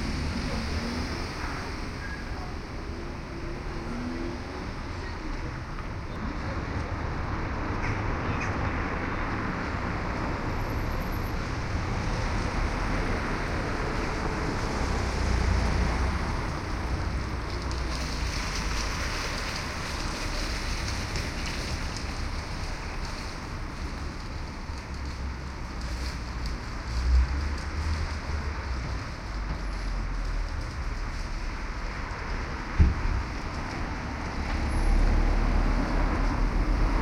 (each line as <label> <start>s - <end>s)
traffic 0.0s - 37.0s